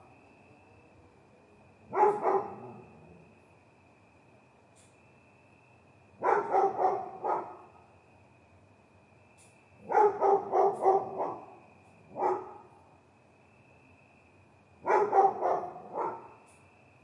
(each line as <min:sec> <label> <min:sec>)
0:00.0 cricket 0:17.0
0:00.0 traffic 0:17.0
0:01.9 Dog bark 0:03.0
0:06.2 Dog bark 0:07.8
0:09.8 Dog bark 0:12.8
0:14.8 Dog bark 0:16.4